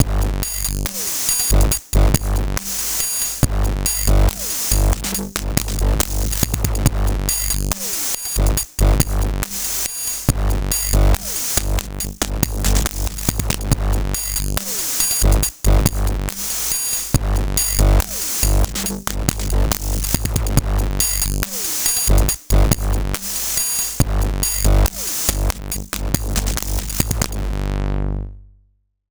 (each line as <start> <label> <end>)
0.0 heavily distorted drumloop beat 27.8
0.0 bass 29.1